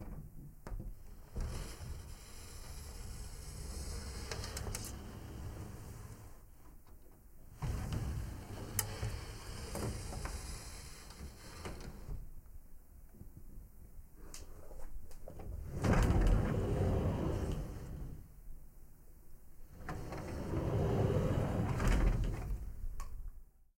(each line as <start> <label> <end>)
0.9 sliding door 6.5
7.5 sliding door 12.3
15.4 sliding door 18.3
19.7 sliding door 22.8